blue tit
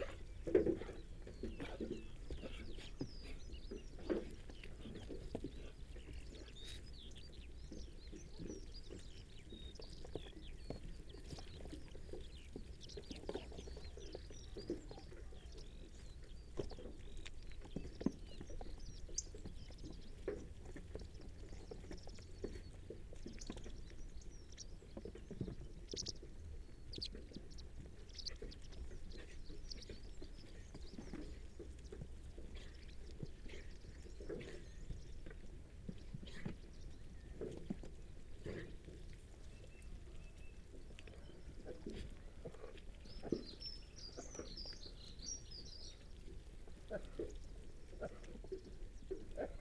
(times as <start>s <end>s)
0.0s 37.8s